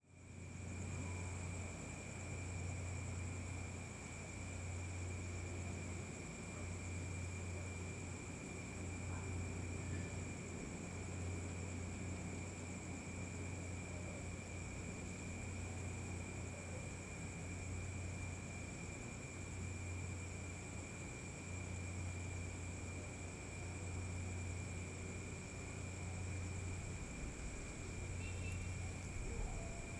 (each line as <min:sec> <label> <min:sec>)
0:00.0 light wind in the leaves and plants 0:29.9
0:00.1 crickets and insects chirping 0:29.9